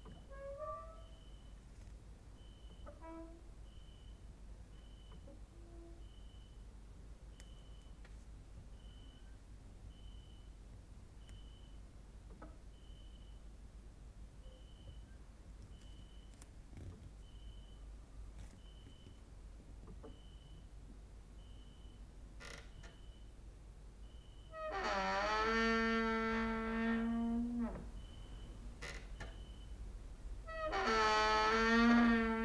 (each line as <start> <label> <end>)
0.0 creaking with wooden doors 1.4
2.6 creaking with wooden doors 3.5
22.4 creaking with wooden doors 23.1
24.5 creaking with wooden doors 29.6
30.4 creaking with wooden doors 32.4